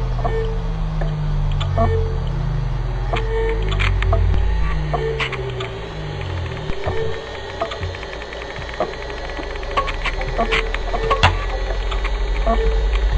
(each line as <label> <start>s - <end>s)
Hard Drives Found Failing 0.0s - 13.1s